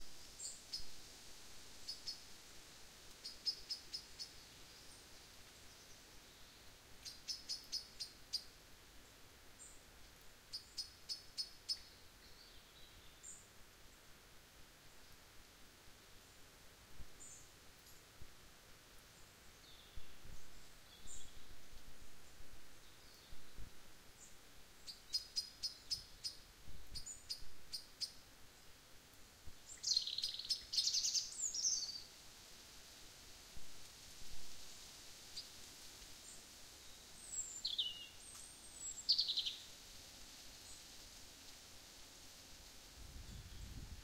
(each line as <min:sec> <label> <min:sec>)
0:00.0 rustling leaves 0:44.0
0:29.7 Birds twittering 0:32.0